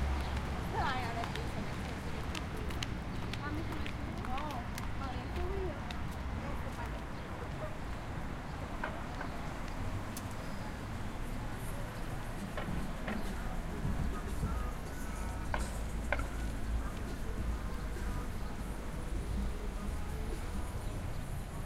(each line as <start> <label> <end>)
0.0 cars 21.6
0.0 walking 8.0
0.0 birds 21.6
0.6 speech 8.0
12.4 music 21.6